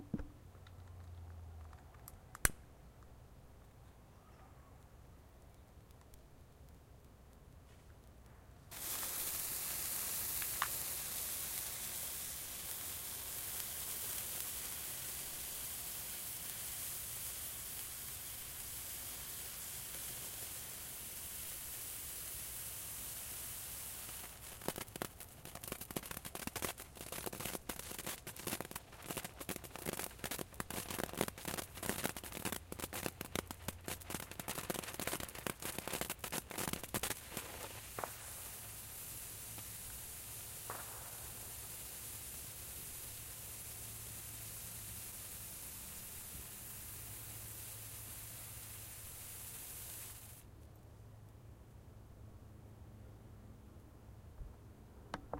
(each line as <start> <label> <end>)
8.7 firework 50.5